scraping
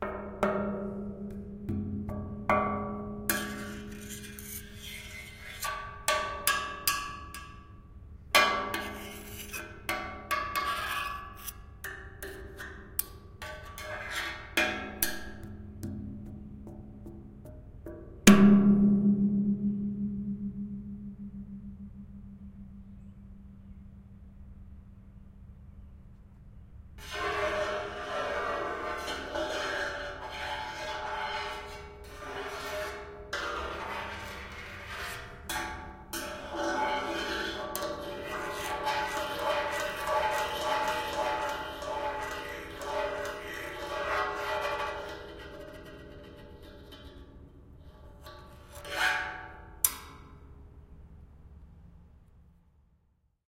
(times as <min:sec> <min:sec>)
0:03.3 0:06.4, 0:27.0 0:50.4